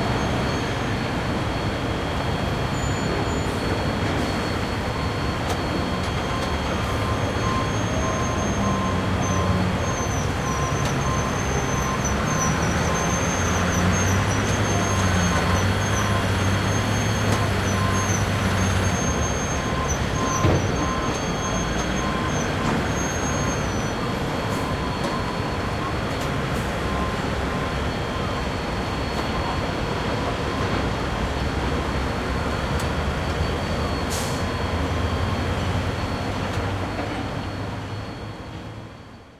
machinery operating in the foreground 0:00.0 - 0:39.0

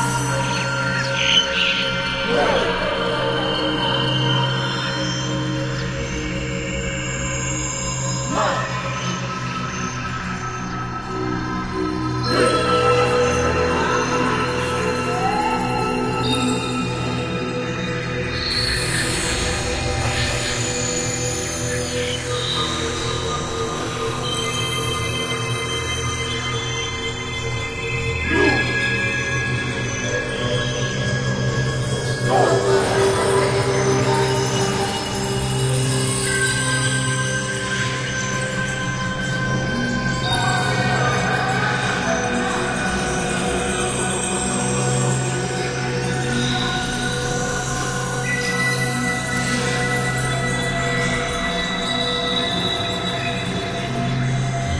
Vocal Atmo Woman Men 0:02.2 - 0:04.2
Vocal Atmo Woman Men 0:32.2 - 0:34.8

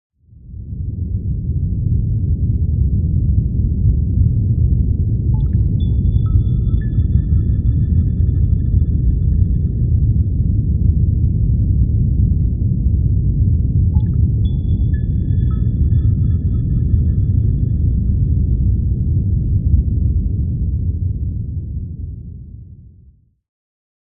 outside rumble of the spaceship 0:00.3 - 0:23.2
small synth plinks 0:05.4 - 0:08.7
small synth plinks 0:14.0 - 0:17.7

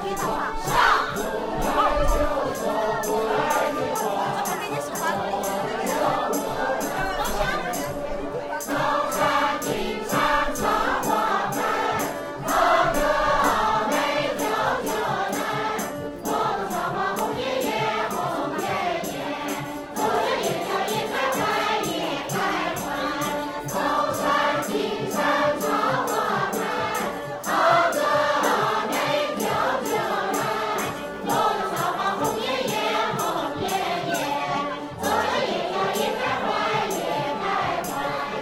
song sung by a group of (old) people 0:00.0 - 0:38.4

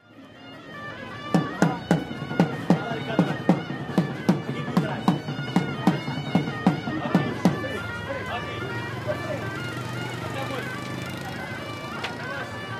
snake charmer with flutes 0:00.0 - 0:12.7
mopeds drive across the square 0:00.0 - 0:12.7
people talking or making business 0:00.0 - 0:12.7

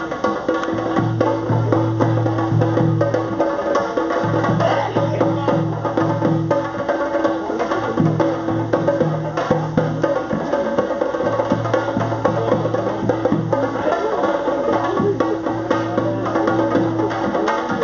Drumming 0:00.0 - 0:17.8

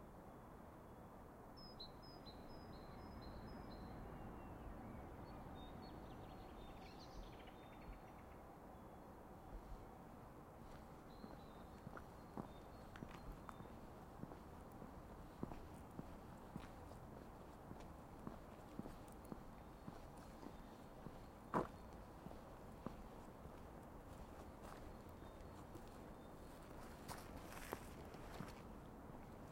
Distant traffic 0:02.0 - 0:29.5
Birds singing 0:10.6 - 0:28.5

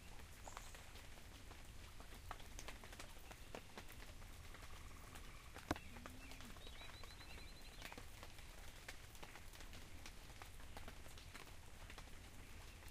Rain falling 0:00.0 - 0:12.9
quiet sound of the creek 0:00.0 - 0:12.9
birds singing 0:03.2 - 0:08.2
cows 0:05.8 - 0:06.7

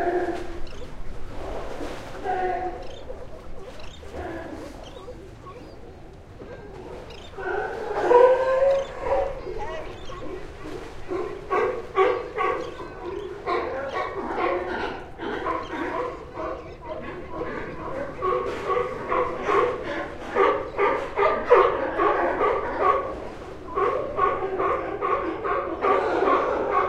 waves 0:00.0 - 0:18.1
California Sea Lions 0:00.0 - 0:26.8

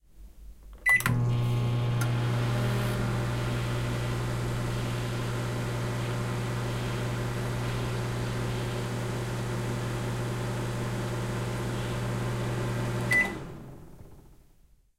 microwave running 0:00.9 - 0:14.4

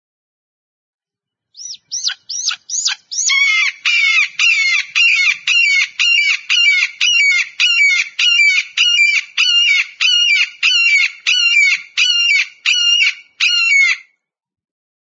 Hawk 0:01.6 - 0:14.2

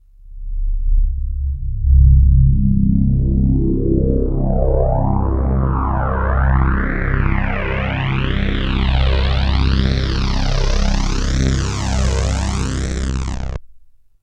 chorused rising filter sweep 0:00.3 - 0:13.6

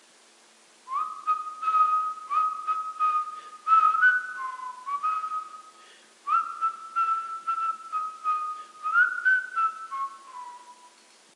whistle Christmas jinglebells 0:00.9 - 0:11.0

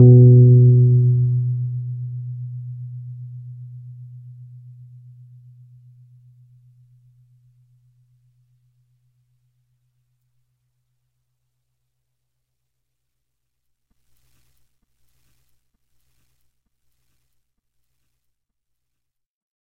Individual notes from my Rhodes 0:00.0 - 0:05.6

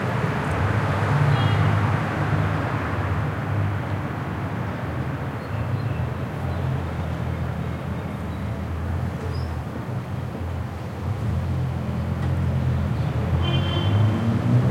cars and trucks passing by 0:00.0 - 0:14.7

